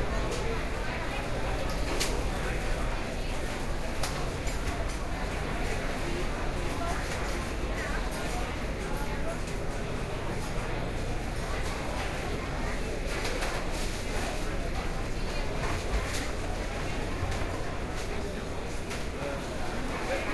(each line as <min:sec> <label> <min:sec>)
0:00.0 crowd 0:20.3